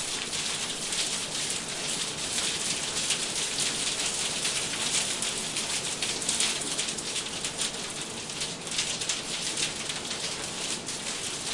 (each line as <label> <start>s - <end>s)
hailstones on windows 0.0s - 11.5s
rain 0.0s - 11.5s